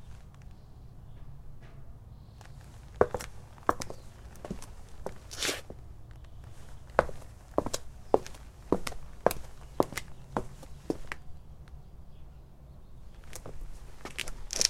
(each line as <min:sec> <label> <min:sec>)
0:02.4 Walking on pavement with leather shoes 0:11.3
0:13.1 Walking on pavement with leather shoes 0:14.6